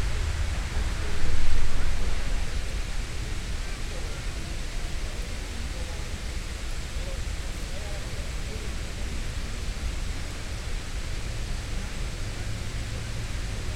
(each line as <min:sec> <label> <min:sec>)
0:00.0 road noise 0:13.7
0:00.9 visitors chatting 0:09.6